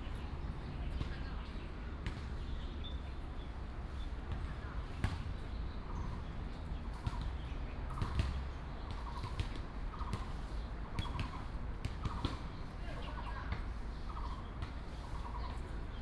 2.0s play basketball 2.4s
4.3s play basketball 5.4s
7.0s play basketball 14.8s

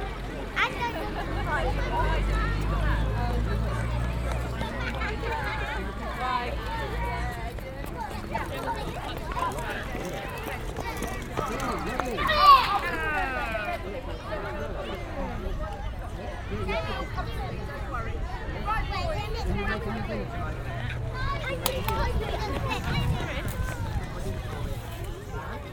0.0s Parents and children in playground 25.7s

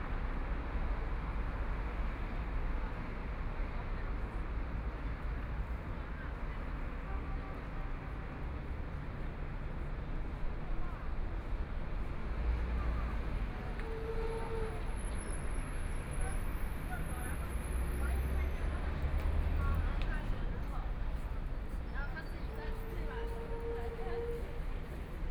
10.8s Traffic Sound 25.3s

